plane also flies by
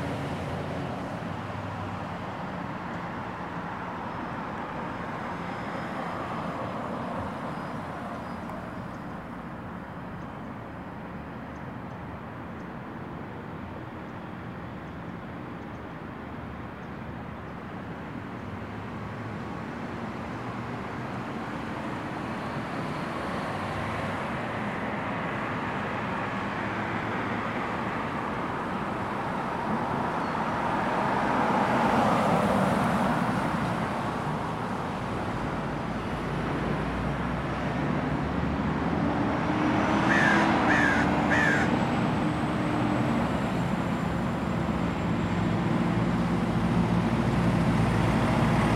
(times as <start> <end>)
38.0 48.7